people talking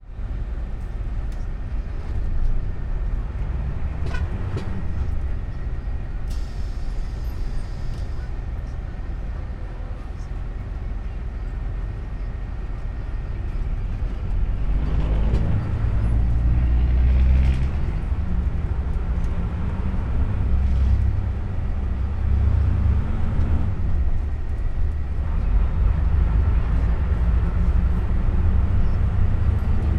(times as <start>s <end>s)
4.6s 14.2s